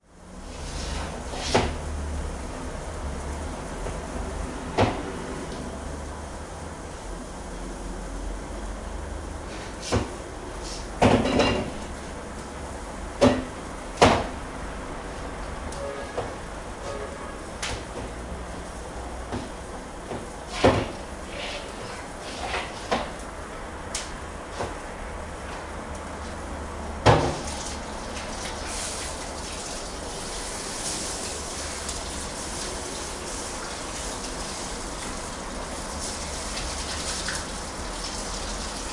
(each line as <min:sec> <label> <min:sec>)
0:20.2 making breafast 0:23.3
0:27.1 making breafast 0:38.9